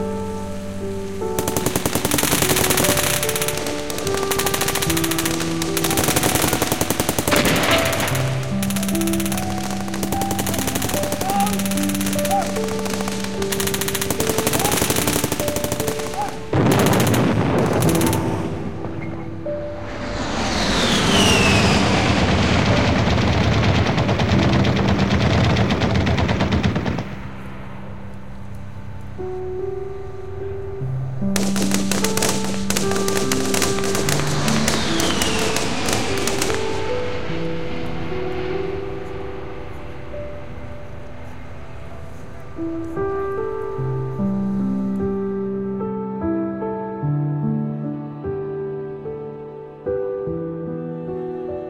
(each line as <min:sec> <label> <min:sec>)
0:01.2 firefight 0:28.5
0:31.3 firefight 0:43.8